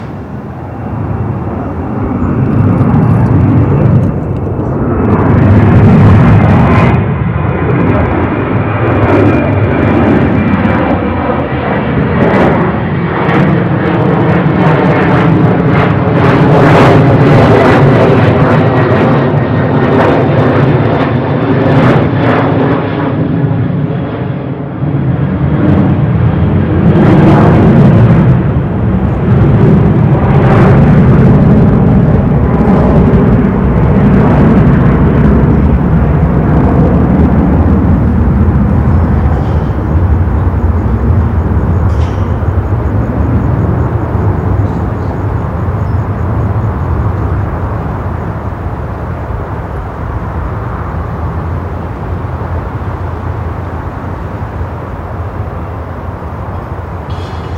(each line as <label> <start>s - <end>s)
airplane 0.0s - 57.5s